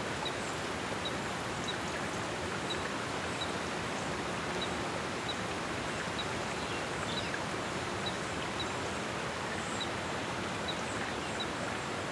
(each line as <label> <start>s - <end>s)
insectos 0.0s - 2.3s